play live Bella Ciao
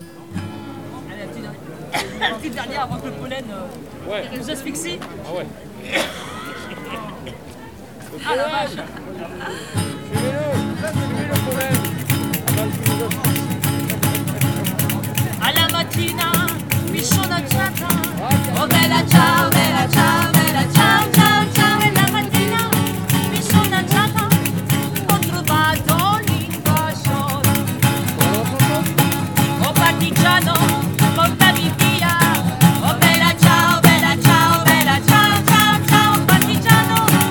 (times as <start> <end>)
9.9 37.3